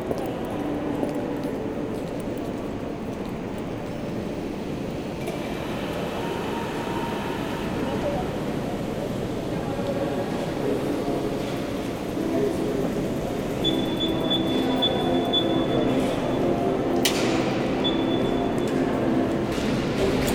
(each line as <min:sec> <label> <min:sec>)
0:00.0 traffic 0:20.3
0:13.6 Red light signal 0:16.4
0:17.5 Red light signal 0:18.7